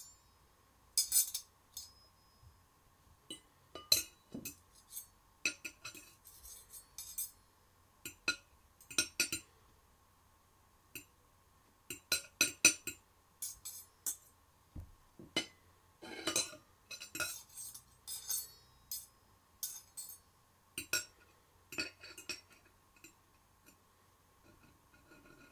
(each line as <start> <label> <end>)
1.0 fork and knife clanking on each other and on the plate 2.1
3.3 fork and knife clanking on each other and on the plate 7.4
11.9 fork and knife clanking on each other and on the plate 14.3
16.1 fork and knife clanking on each other and on the plate 20.2